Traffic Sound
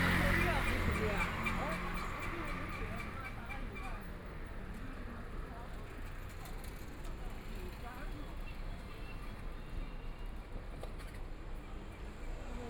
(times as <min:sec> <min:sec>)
0:00.0 0:04.4